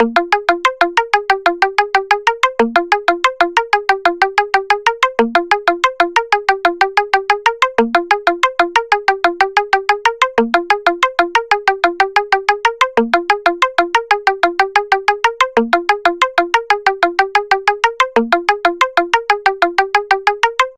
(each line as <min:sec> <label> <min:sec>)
0:00.0 Trance Pluck 0:20.7